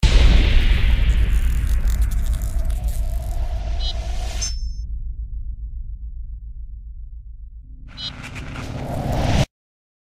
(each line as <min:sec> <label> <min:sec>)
0:00.0 boom 0:04.2